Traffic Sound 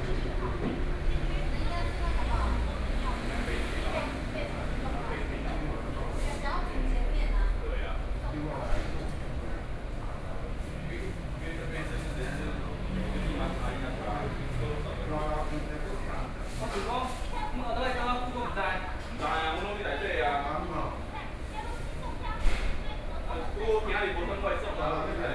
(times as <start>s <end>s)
0.0s 8.2s, 9.2s 19.0s